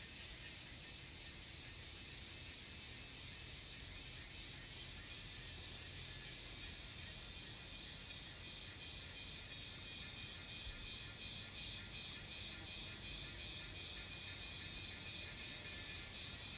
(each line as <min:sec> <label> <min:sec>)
0:08.8 Cicada sounds 0:16.5